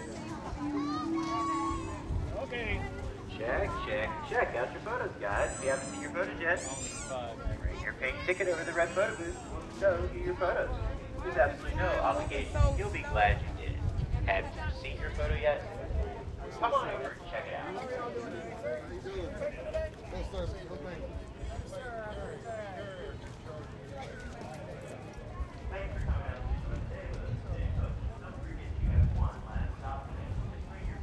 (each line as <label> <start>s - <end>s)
Male voice encouraging crowd 2.3s - 6.9s
Male voice encouraging crowd 7.7s - 15.7s